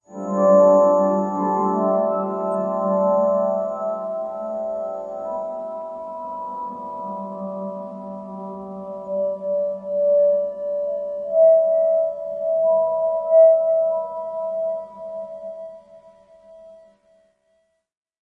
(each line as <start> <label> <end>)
0.0 piano 17.0